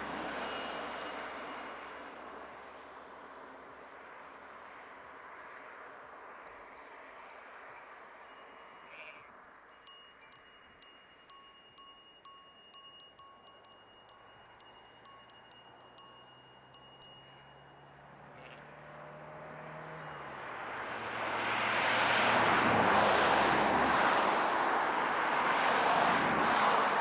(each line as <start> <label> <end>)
8.8 Sheep 9.3
18.3 Sheep 18.7